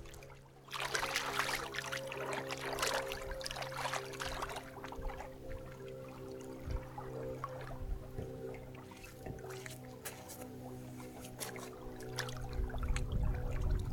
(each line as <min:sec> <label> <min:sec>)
0:00.0 Wading 0:13.9